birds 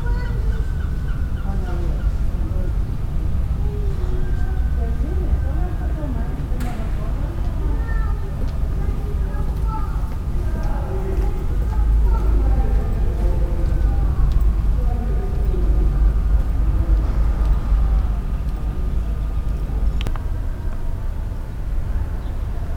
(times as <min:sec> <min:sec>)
0:00.0 0:05.5, 0:21.1 0:22.7